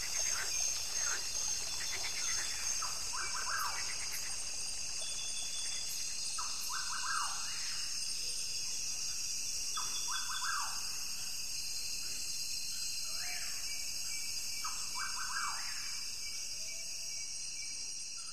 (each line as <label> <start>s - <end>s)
birds 0.0s - 7.7s
brook 0.0s - 12.3s
frogs 0.0s - 18.3s